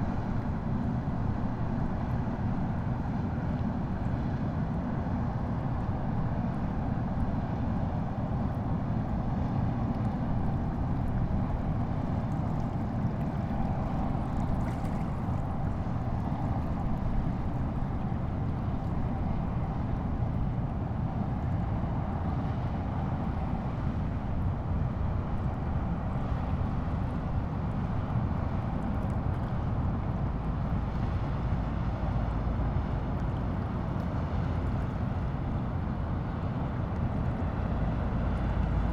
train 0:00.0 - 0:38.9

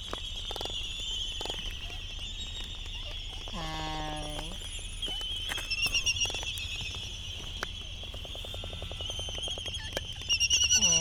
canaries 0:00.0 - 0:11.0
whinnying 0:01.6 - 0:06.2
whinnying 0:10.6 - 0:11.0

